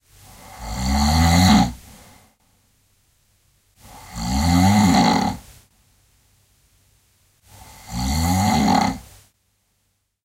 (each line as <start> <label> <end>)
0.2 man who snores so the whole house shakes 2.4
3.8 man who snores so the whole house shakes 5.5
7.5 man who snores so the whole house shakes 9.1